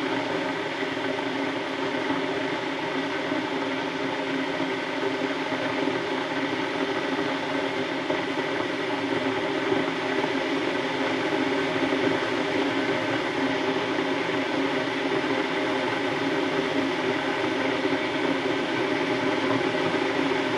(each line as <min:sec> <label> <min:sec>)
0:00.0 kettle boiling 0:20.5